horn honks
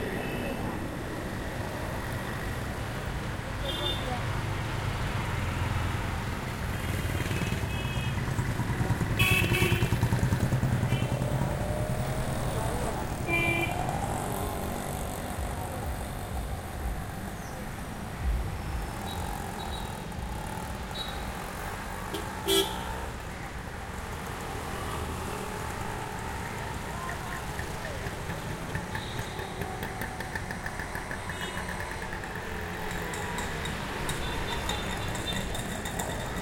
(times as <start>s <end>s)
22.1s 22.9s